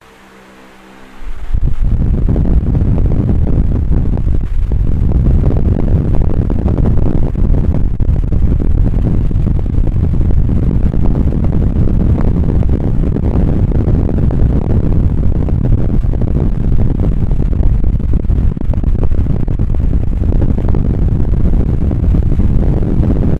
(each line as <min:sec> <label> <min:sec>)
0:00.0 Fan Blowing 0:23.3